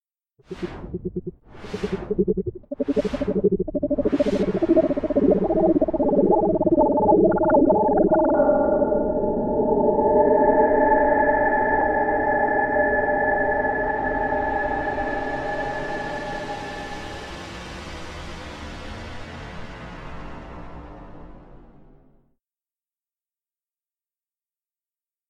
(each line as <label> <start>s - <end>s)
Alien Message 0.4s - 10.4s
Space Ship Arrival 0.4s - 18.0s